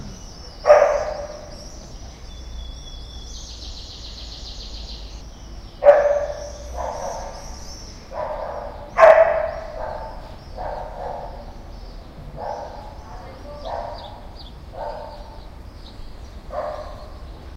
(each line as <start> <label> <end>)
0.0 two small dogs 2.0
0.0 caged birds 17.5
0.0 distant traffic roar 17.5
0.0 sparrows 17.5
5.8 two small dogs 15.6
16.4 two small dogs 17.3